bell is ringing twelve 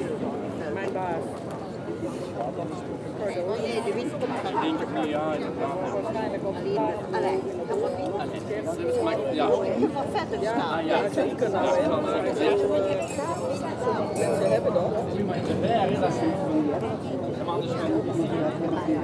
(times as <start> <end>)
13.0 14.6